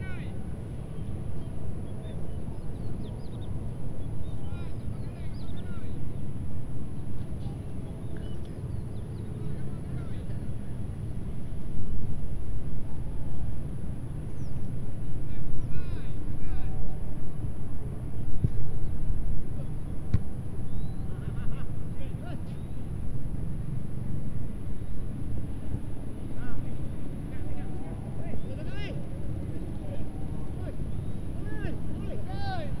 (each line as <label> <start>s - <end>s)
football match 25.6s - 32.8s